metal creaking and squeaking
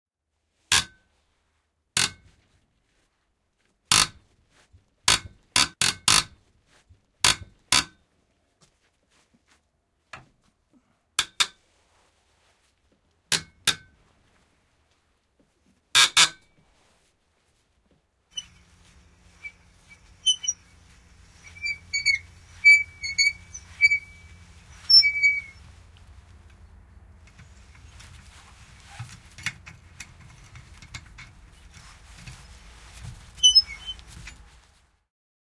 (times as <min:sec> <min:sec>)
0:18.3 0:34.8